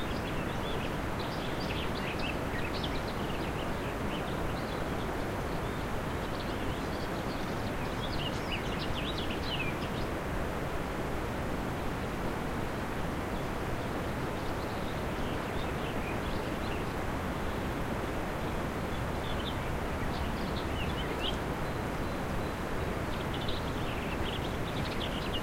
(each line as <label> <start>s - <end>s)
Birds singing 0.0s - 10.2s
river 0.0s - 25.4s
Birds singing 13.4s - 25.4s